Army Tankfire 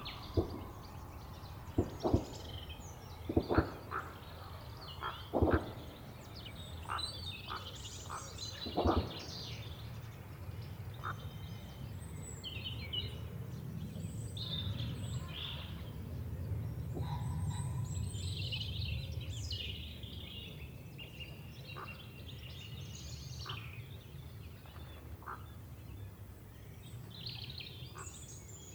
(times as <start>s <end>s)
0.2s 1.0s, 1.7s 4.0s, 5.3s 6.0s, 8.6s 9.4s